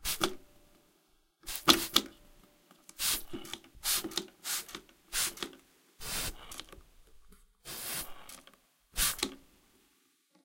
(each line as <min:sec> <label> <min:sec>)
0:01.4 Squirting from a spray bottle 0:02.1
0:02.9 Squirting from a spray bottle 0:06.7
0:07.7 Squirting from a spray bottle 0:09.4